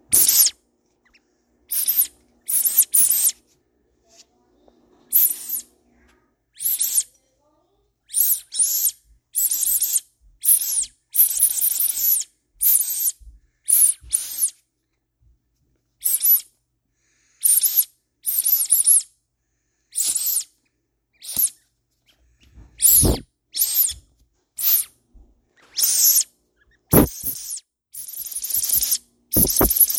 squeaky toy block 0:00.1 - 0:00.6
squeaky toy block 0:01.7 - 0:03.4
squeaky toy block 0:05.1 - 0:05.7
squeaky toy block 0:06.6 - 0:07.1
squeaky toy block 0:08.1 - 0:14.6
squeaky toy block 0:16.1 - 0:16.5
squeaky toy block 0:17.5 - 0:19.1
squeaky toy block 0:20.0 - 0:20.5
squeaky toy block 0:21.2 - 0:21.6
squeaky toy block 0:22.8 - 0:24.0
squeaky toy block 0:24.6 - 0:24.9
squeaky toy block 0:25.7 - 0:26.3
squeaky toy block 0:26.9 - 0:29.9

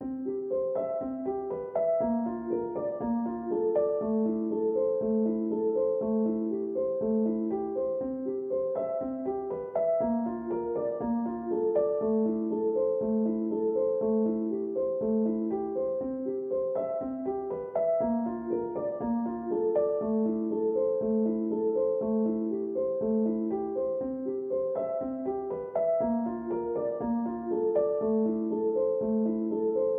piano 0:00.0 - 0:29.9

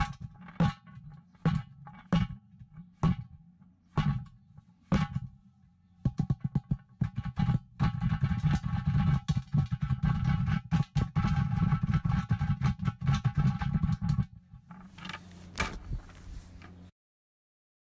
hands patting on the outside 0:15.1 - 0:16.9

